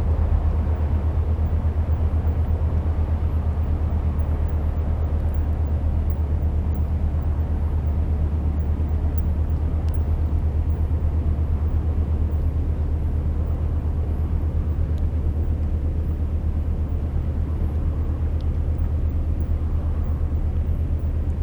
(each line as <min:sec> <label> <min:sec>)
0:00.0 big industrial boat is passing by 0:21.4